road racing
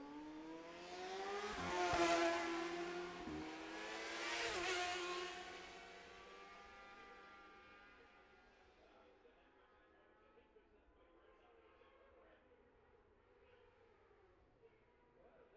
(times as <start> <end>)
0.0 7.6